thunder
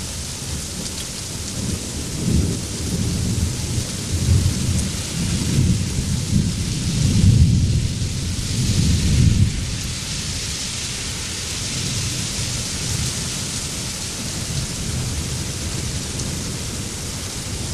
0:01.6 0:10.1

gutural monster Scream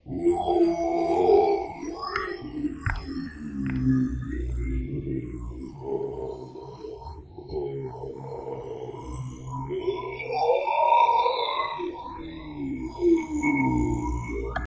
0:00.1 0:01.9

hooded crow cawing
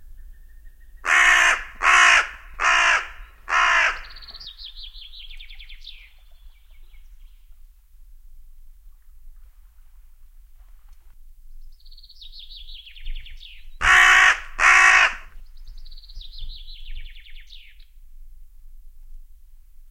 0:01.0 0:04.2, 0:13.8 0:15.3

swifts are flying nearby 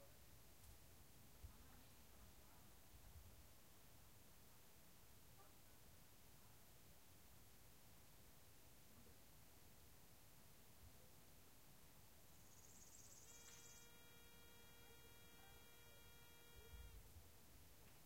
0:12.8 0:16.8

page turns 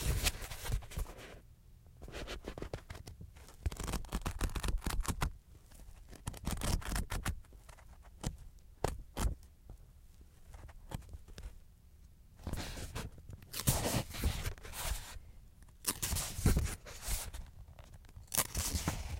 0:15.9 0:19.1

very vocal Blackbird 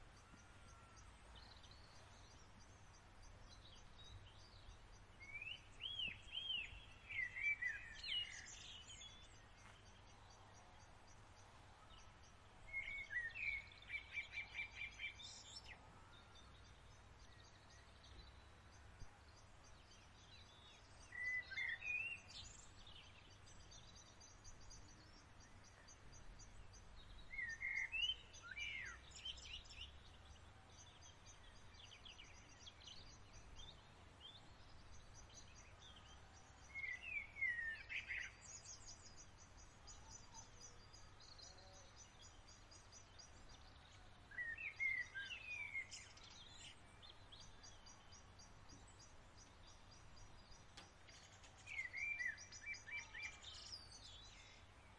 0:35.2 0:48.3, 0:50.2 0:54.9

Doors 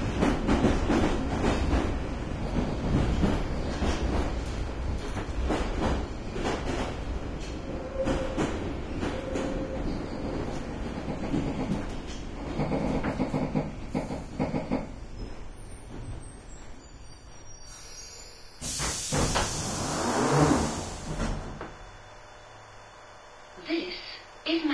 0:18.6 0:21.8

